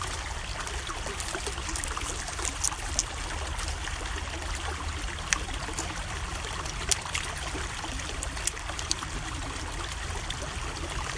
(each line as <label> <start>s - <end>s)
rubbing of hands & rocks 0.0s - 9.6s
steady stream 0.0s - 11.1s
light walking on nearby stones 0.0s - 9.1s
pebbles being lightly tossed into the water 0.1s - 5.9s